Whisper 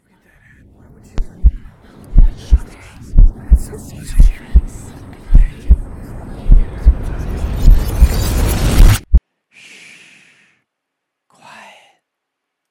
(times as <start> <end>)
0.0 7.4, 11.3 12.1